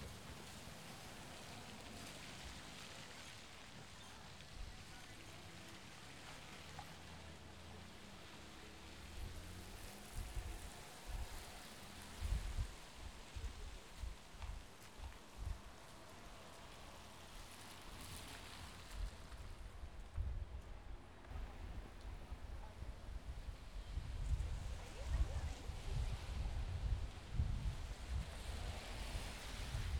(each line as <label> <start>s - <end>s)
rain 0.0s - 29.9s
cars on the street 5.9s - 12.2s